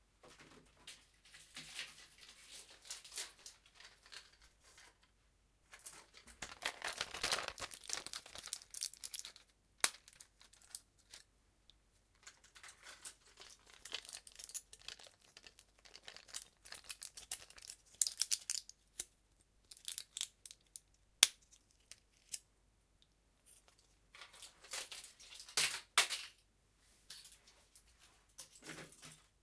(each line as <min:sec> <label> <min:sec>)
0:05.8 Taking pills from plastic package 0:11.3
0:12.2 Taking pills from plastic package 0:22.4